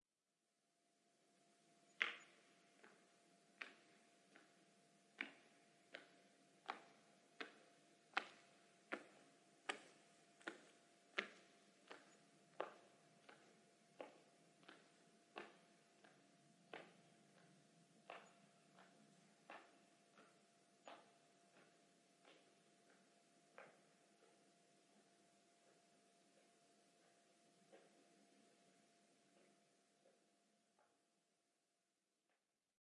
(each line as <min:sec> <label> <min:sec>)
0:08.2 foot steps walking 0:24.4